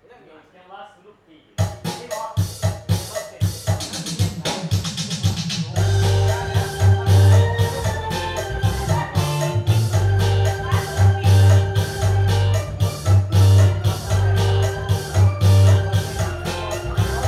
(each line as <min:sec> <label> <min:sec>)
0:01.6 Kara-oke Lao style 0:17.2